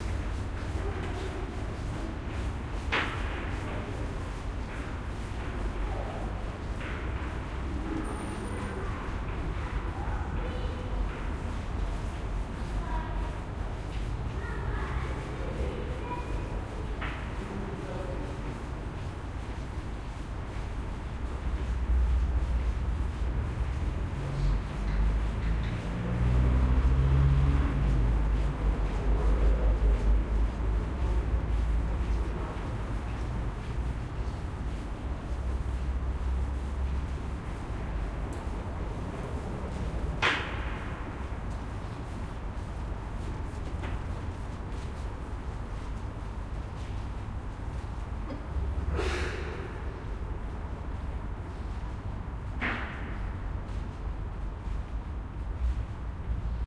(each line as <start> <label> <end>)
0.0 Reverberant footsteps 56.0
12.7 voices 18.8
22.0 Heavy traffic 42.9